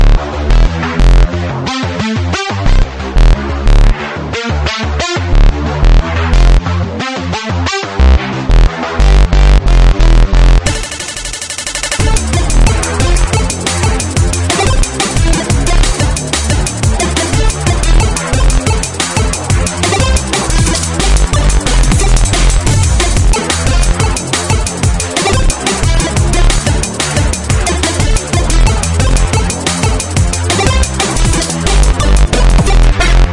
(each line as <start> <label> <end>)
0.0 Distorted synth bass 7.0
5.3 cheap dnb beat 6.6
7.8 Distorted synth bass 33.3
8.1 cheap dnb beat 33.3
10.6 chiptune-ish sound 33.3